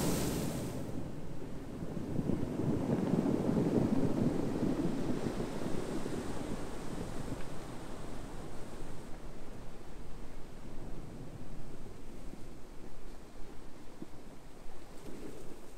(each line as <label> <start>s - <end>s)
Short intense beachbreak with cobblestones 0.0s - 1.1s